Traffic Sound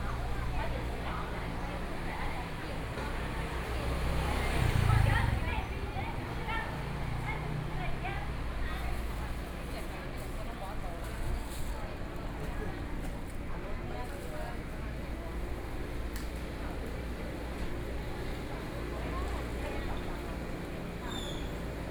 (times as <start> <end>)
0.0 9.6